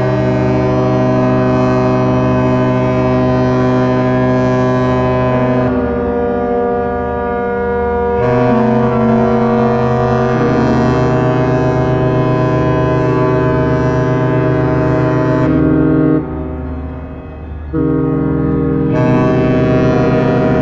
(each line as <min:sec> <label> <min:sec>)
0:00.0 Ships Horns 0:20.6